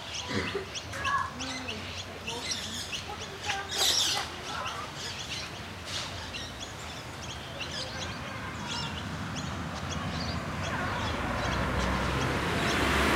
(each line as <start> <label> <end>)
0.0 children 12.6
0.0 rainbow lorikeet 13.0
0.0 magpies 13.1
7.7 car pass 13.1